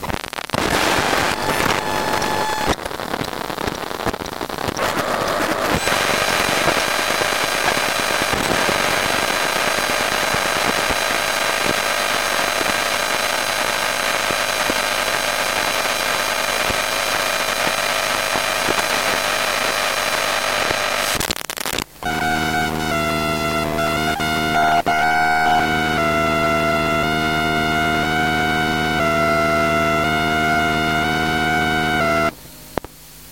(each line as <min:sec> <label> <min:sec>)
0:22.0 macbook sleeping mode 0:28.1